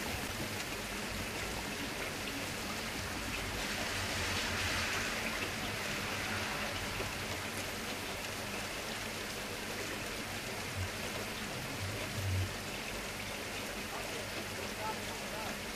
rain hitting window 0.0 - 15.7
cars going past 3.6 - 7.7

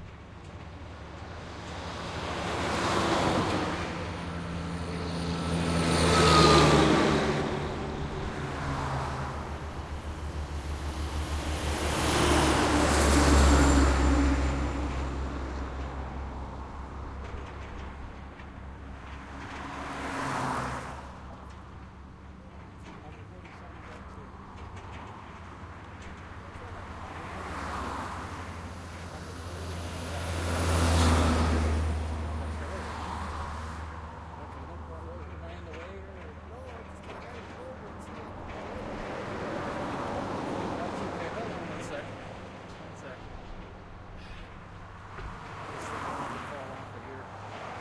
big trucks passing 0.0 - 47.8
traffic 0.0 - 47.8
me talking to one of the construction workers 34.3 - 43.4

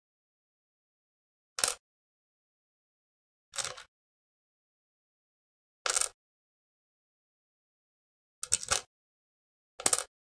Putting down a coin onto a stone floor 1.6 - 1.8
Putting down a coin onto a stone floor 3.6 - 3.9
Putting down a coin onto a stone floor 5.9 - 6.2
Putting down a coin onto a stone floor 8.4 - 8.9
picking up a coin from a stone floor 9.8 - 10.1
Putting down a coin onto a stone floor 9.8 - 10.1

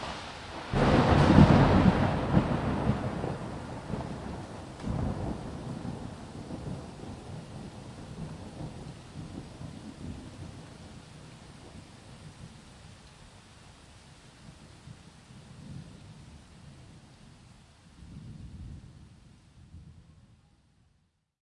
Large Thunder and rumble 0.0 - 12.6
Rain on street, plants, exterior home 0.0 - 21.2

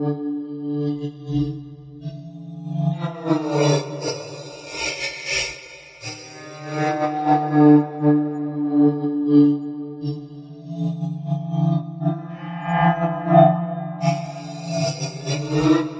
Vocal Strings 11.8 - 15.9

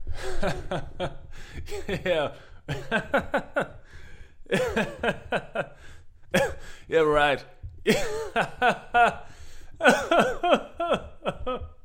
Male laughter 0.4 - 3.8
Male laughter 4.5 - 5.8
Male laughter 7.9 - 11.8

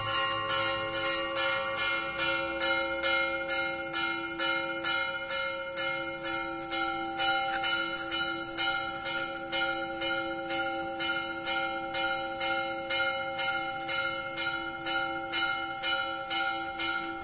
church bells small rung vigorously nearby 0.0 - 17.2

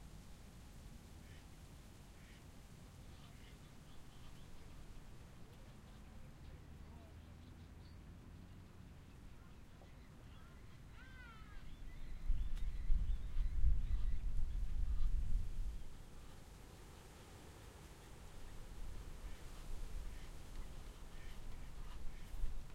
ducks 1.2 - 1.5
ducks 2.1 - 7.9
ducks 13.3 - 15.2
ducks 15.8 - 17.2
ducks 17.9 - 22.7

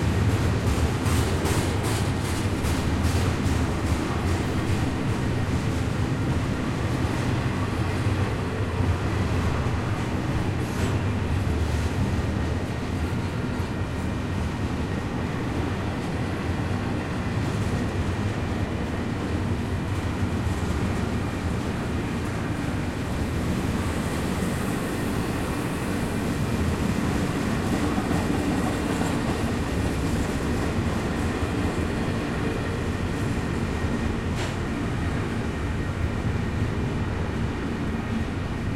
train going by on tracks 0.0 - 38.7

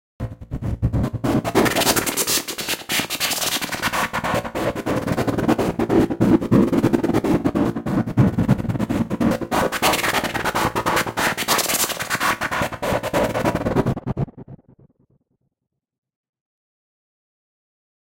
fast delayed white noise 0.2 - 14.2

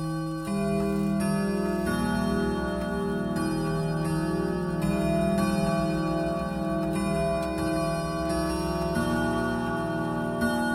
grandfather clock chimes 0.0 - 10.7

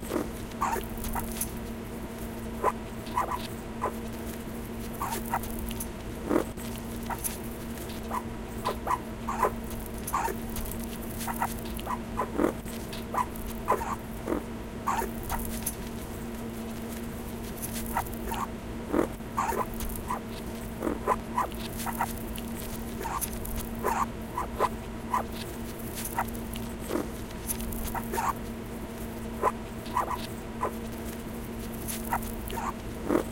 Toy Fox Terrier dog 31.9 - 32.8

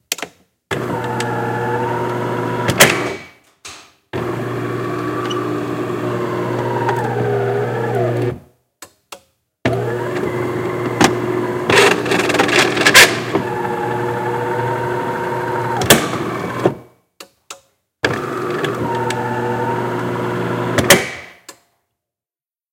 old, deteriorating coffee maker 4.2 - 8.4
old, deteriorating coffee maker 9.7 - 16.8
old, deteriorating coffee maker 18.1 - 20.8

